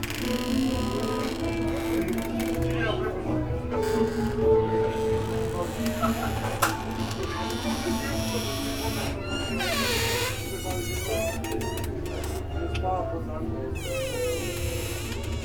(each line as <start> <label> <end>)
0.0 restaurant aeration device in the anteroom runs in full power 15.4